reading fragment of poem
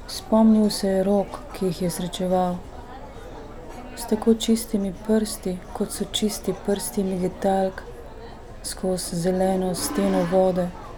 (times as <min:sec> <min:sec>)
0:09.7 0:10.7